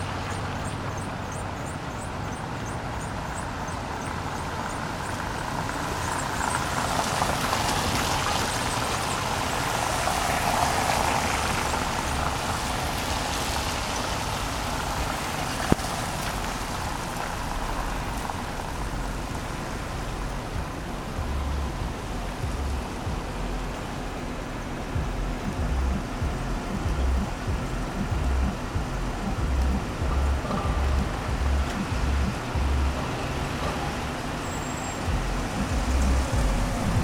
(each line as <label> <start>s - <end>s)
Cars driving across the wet bricked road surface 0.0s - 37.0s